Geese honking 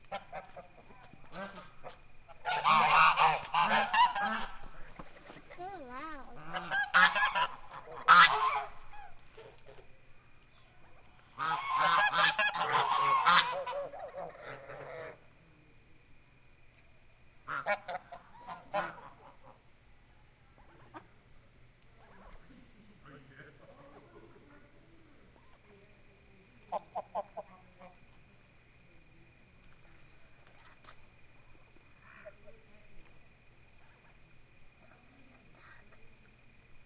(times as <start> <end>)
0.1 5.4, 6.4 9.8, 11.3 15.2, 17.4 19.6